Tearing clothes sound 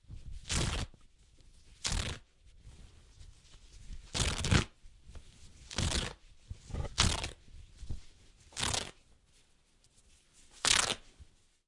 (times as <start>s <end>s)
0.4s 1.0s, 1.6s 2.4s, 3.9s 4.8s, 5.5s 9.1s, 10.4s 11.2s